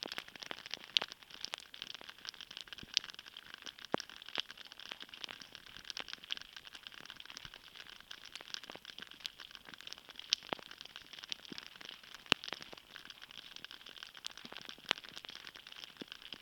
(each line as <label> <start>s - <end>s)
Drips of water from icicles 0.0s - 16.4s